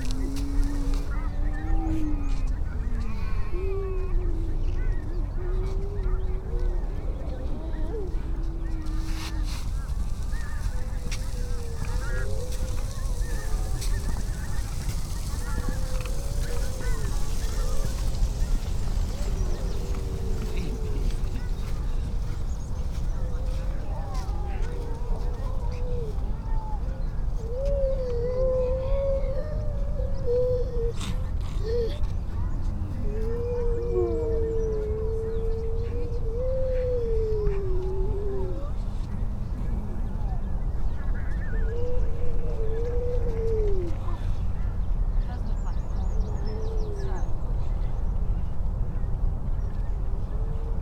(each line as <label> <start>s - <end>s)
robin 0.0s - 29.3s
curlew 0.0s - 31.1s
calls from females and pups 4.6s - 26.6s
skylark 8.9s - 24.6s
starling 9.0s - 22.1s